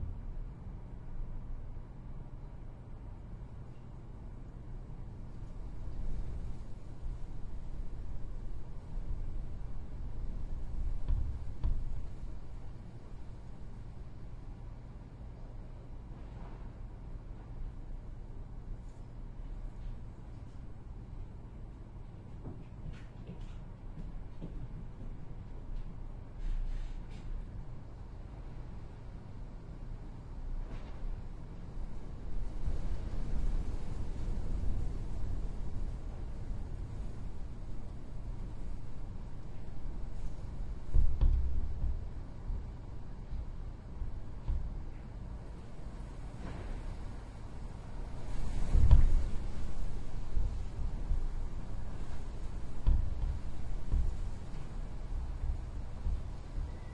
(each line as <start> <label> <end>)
0.0 wind 56.9
48.1 Rattling window 56.6